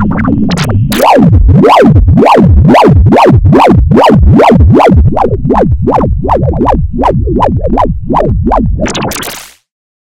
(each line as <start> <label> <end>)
0.0 Synth 9.6